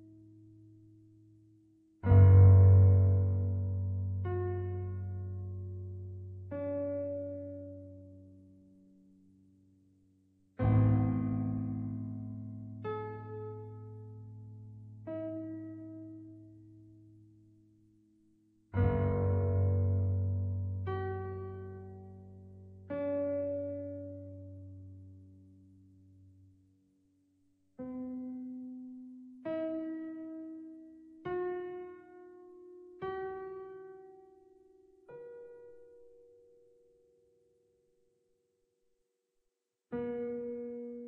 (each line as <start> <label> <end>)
2.0 piano music 8.6
10.6 piano music 16.5
18.8 piano music 25.2